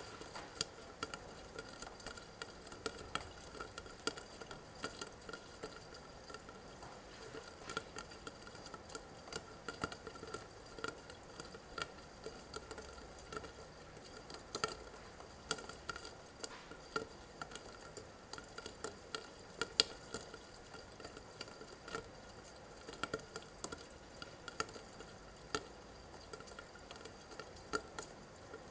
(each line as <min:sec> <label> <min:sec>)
0:00.0 Rain droppings in the walled-in gutter 0:28.7